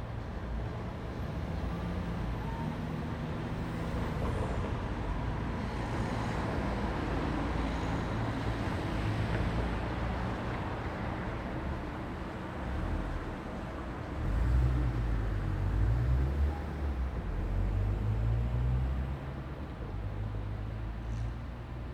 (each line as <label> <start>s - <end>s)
traffic 0.0s - 21.9s